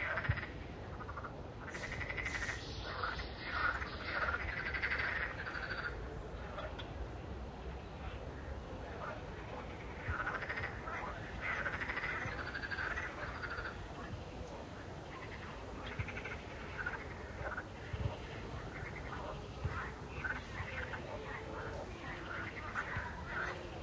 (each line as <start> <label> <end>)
0.0 frogs 7.2
8.0 frogs 23.8